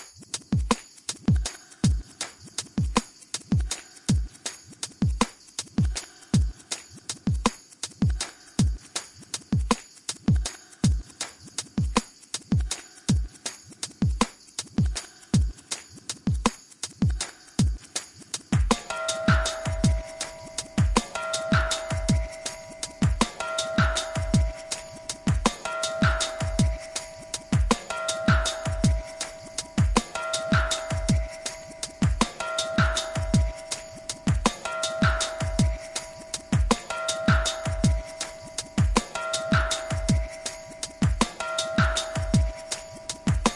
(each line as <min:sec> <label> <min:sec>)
0:18.6 synthesizer 0:43.5